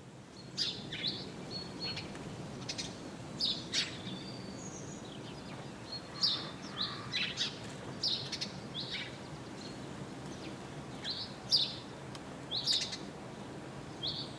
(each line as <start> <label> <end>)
0.3 Birds singing 14.3